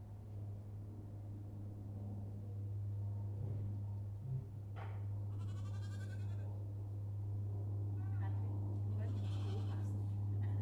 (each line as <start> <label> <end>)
8.0 grandma talking 10.6